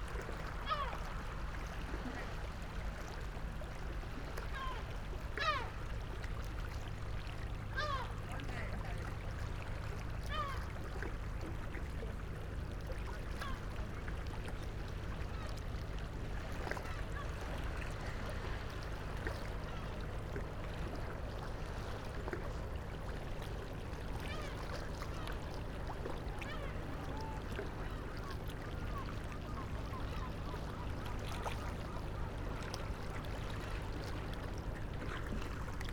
0.0s waves 35.9s
0.6s seagulls 1.1s
4.5s seagulls 5.8s
7.8s seagulls 8.2s
10.3s seagulls 10.7s
24.2s seagulls 25.5s
26.3s seagulls 32.8s

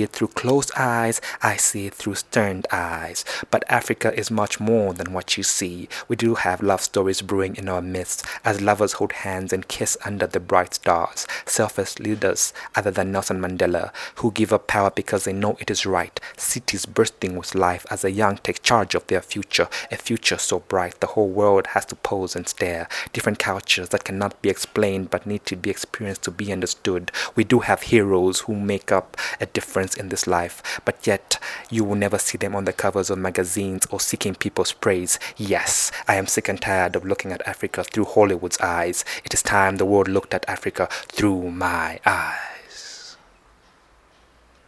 0.0s poem 43.2s

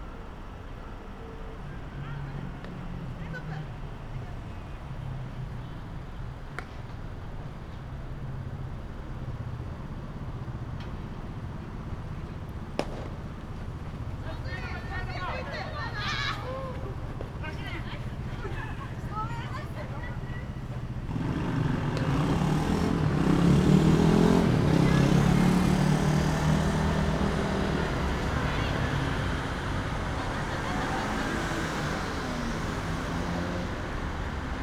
0.0s harsh pulse of a five line street 34.6s
1.8s baseball practice game 9.5s
12.2s baseball practice game 21.1s
21.9s baseball practice game 22.2s

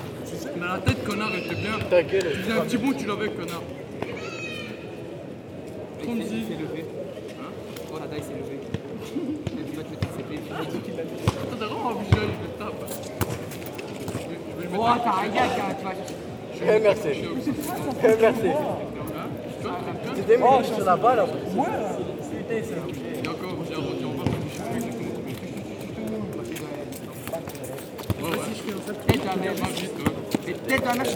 8.6s young people playing football 22.2s
22.8s tourists walking 31.1s
22.9s young people playing football 31.1s

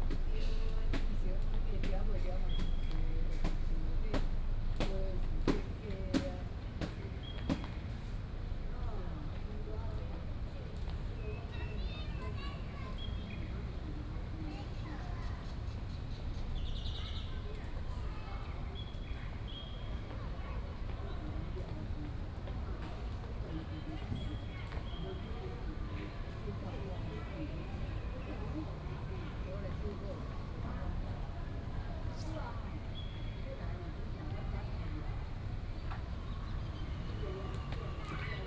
8.9s The elderly and children 38.4s

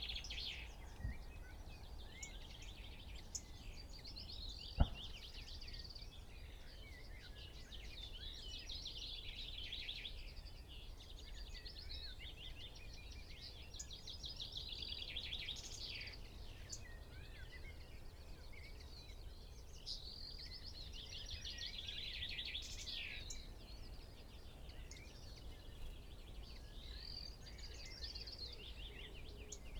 0.0s background noise 29.7s
0.0s blackbird 29.7s
0.0s willow warbler song 29.7s
4.7s skylark 5.2s
4.8s blackcap 5.3s

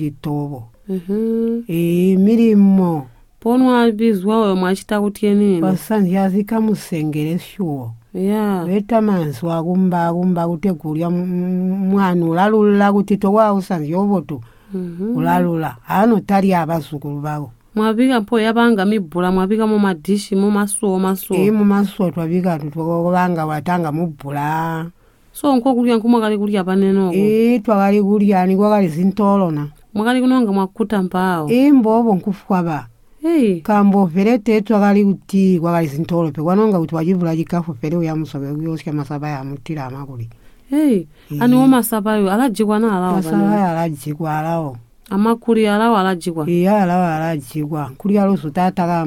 0.0s grandmother lists some of the bush fruits 49.0s
14.7s asks her grandmother 16.0s
40.7s asks her grandmother 49.0s

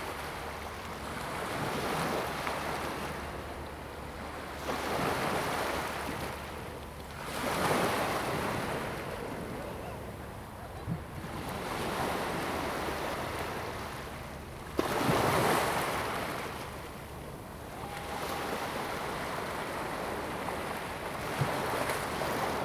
0.0s waves and tides 22.6s
17.7s Yacht whistle sound 19.9s

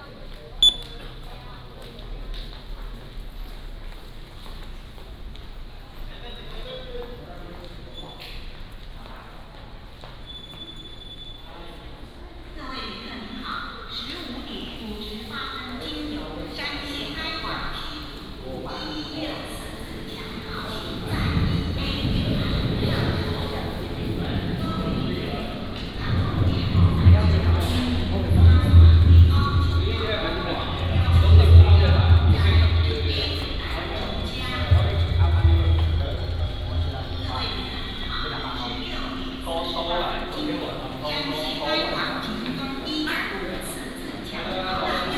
0.0s Walk at the station 45.1s
19.4s Station information broadcast 43.4s

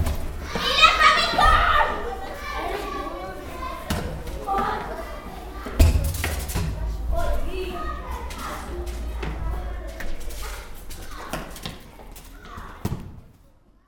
0.0s Children playing 13.8s

